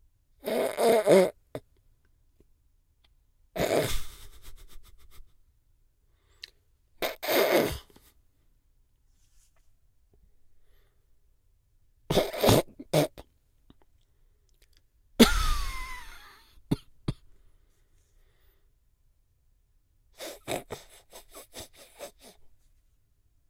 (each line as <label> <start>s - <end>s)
supressed laugh 3.6s - 5.4s
supressed laugh 15.2s - 16.7s
supressed laugh 20.2s - 22.4s